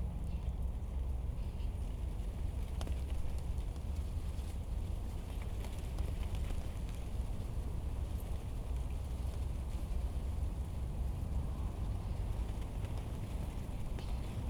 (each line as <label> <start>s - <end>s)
Wind and leaves 0.0s - 14.4s
planes in the distance 10.6s - 14.4s